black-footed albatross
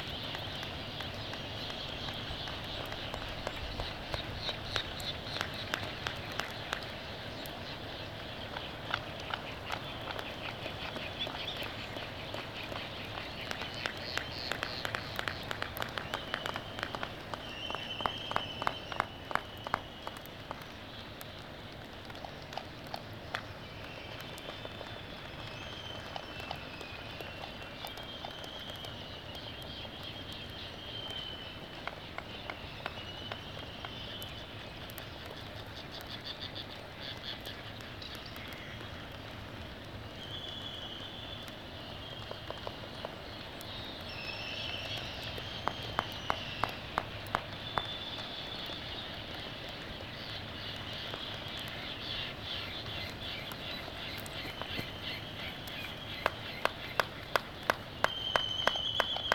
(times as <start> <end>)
44.0 59.3